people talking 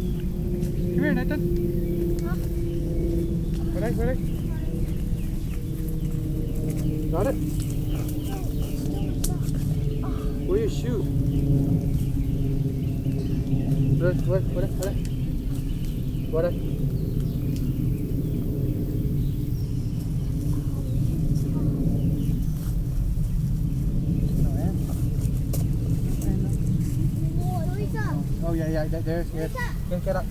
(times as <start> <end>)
0.9 1.4, 2.2 2.6, 3.6 5.2, 7.0 11.2, 14.0 15.0, 24.3 25.0, 26.1 30.3